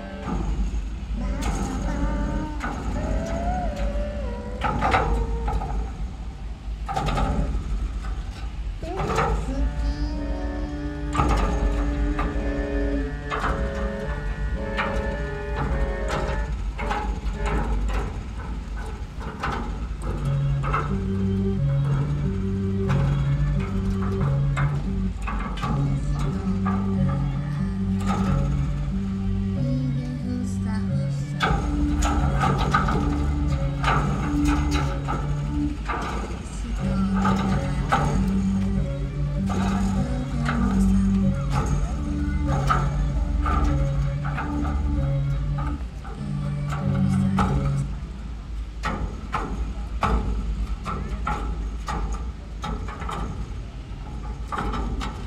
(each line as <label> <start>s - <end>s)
people moving the bucky ball all over the place 0.0s - 55.2s